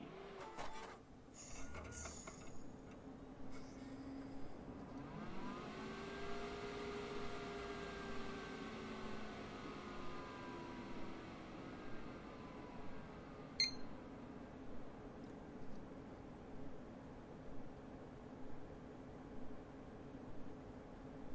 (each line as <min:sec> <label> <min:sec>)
0:00.0 Fan 0:21.3
0:13.6 Peep 0:13.9